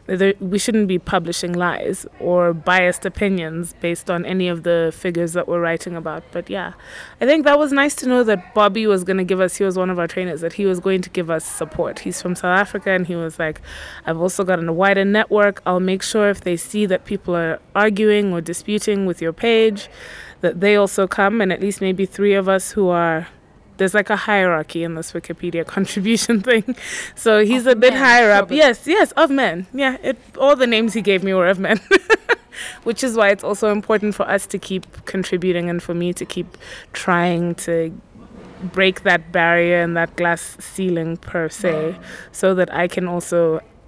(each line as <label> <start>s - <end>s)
conversation 0.0s - 43.7s